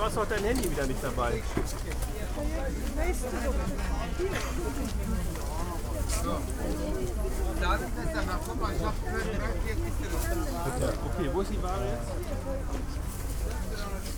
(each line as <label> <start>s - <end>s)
crowded market 0.0s - 14.1s